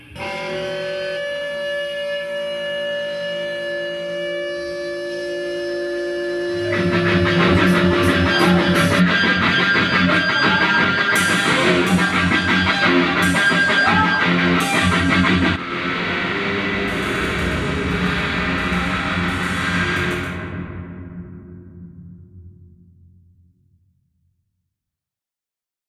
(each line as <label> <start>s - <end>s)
guitar 0.0s - 22.5s
bass 0.0s - 23.3s